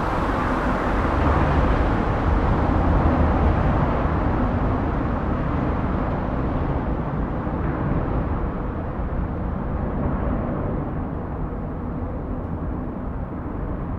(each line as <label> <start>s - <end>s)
Traffic in the tunnel 0.0s - 13.9s